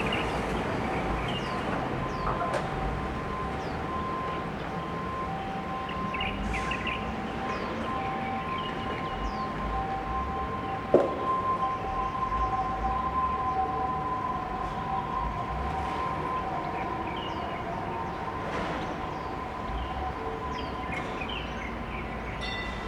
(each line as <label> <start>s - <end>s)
construction site 0.0s - 22.8s
Birds singing 5.7s - 9.7s
Birds singing 16.3s - 22.8s